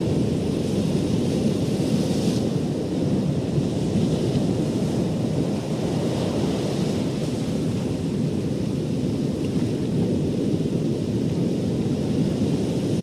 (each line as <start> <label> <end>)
0.0 waves crashing 13.0